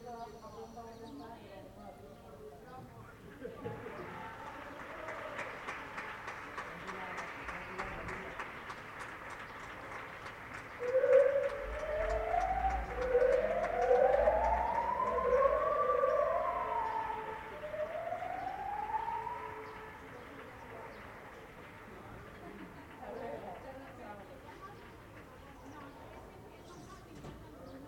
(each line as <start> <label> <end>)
3.6 megáfonos felicitando a alguien 24.8
4.1 aplausos 22.9
10.8 música de Cumpleaños Feliz que sonaba a lo lejos 19.7
10.8 sirena de coches de policías 20.8